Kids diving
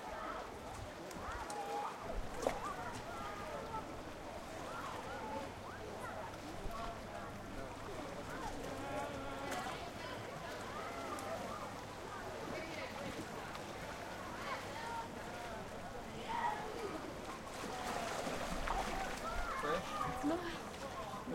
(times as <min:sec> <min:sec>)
0:16.2 0:20.9